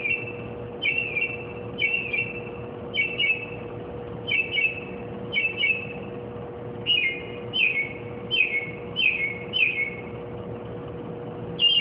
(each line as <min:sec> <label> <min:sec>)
0:00.0 bird singing and chirping various car-alarm-like-songs 0:06.1
0:06.8 bird singing and chirping various car-alarm-like-songs 0:10.2
0:11.6 bird singing and chirping various car-alarm-like-songs 0:11.8